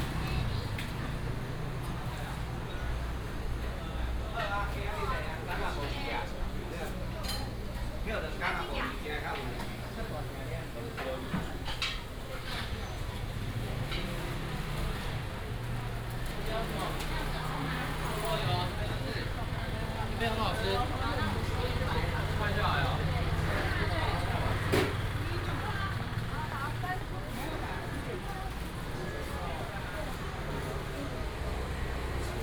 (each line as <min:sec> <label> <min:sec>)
0:00.0 Traffic sound 0:32.4
0:00.0 Walk through the market 0:32.4